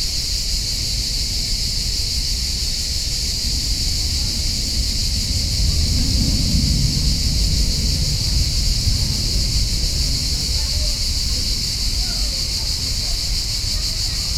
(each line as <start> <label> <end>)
0.0 High volume cicadas 14.3